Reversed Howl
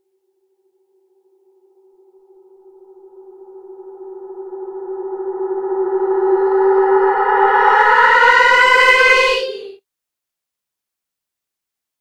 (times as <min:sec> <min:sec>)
0:02.7 0:09.8